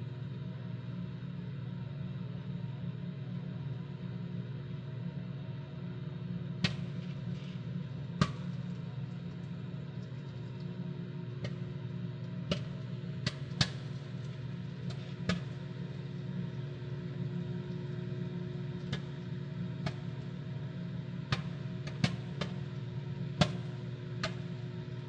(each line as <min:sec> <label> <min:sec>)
0:00.0 microwave 0:25.0
0:06.5 microwave popcorn 0:25.0